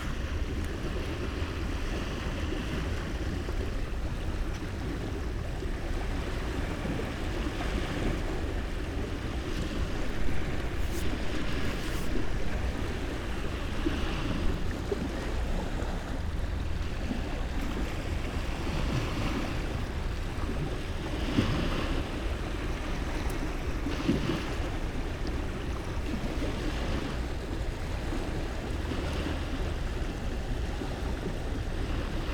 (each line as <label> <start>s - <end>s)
late aftrenoon sea 0.0s - 32.3s